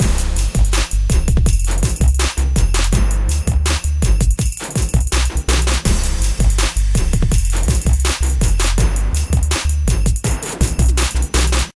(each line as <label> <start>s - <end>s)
drums 0.0s - 11.7s